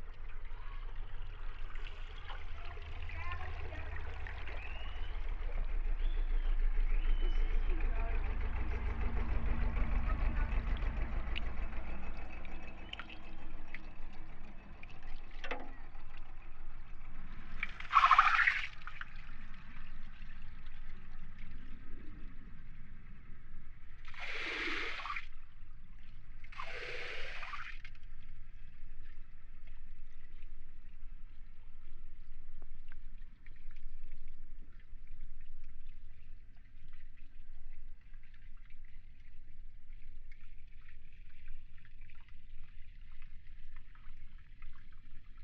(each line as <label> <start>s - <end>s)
tour boat passing by 0.4s - 17.8s
trams rumbling 6.6s - 12.8s